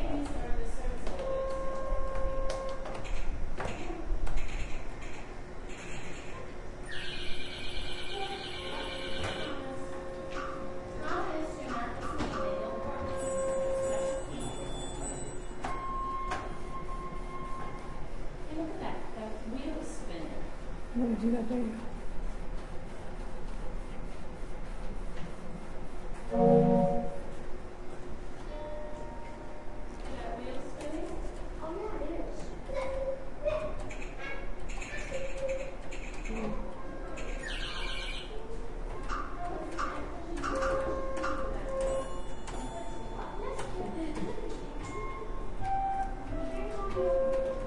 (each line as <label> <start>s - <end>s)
distant train whistle 26.3s - 27.3s
Kids are playing, pushing the buttons 32.3s - 47.6s